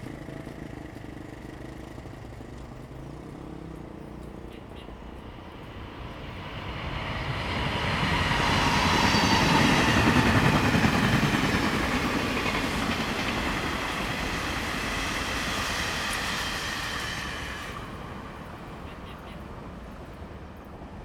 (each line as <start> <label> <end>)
0.0 Traffic Sound 21.0
0.0 Traveling by train 21.0
2.6 Birdsong sound 7.6